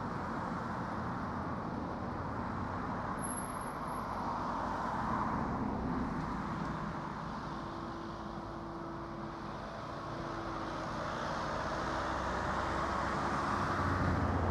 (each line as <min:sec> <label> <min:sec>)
0:00.0 cars on the road 0:14.5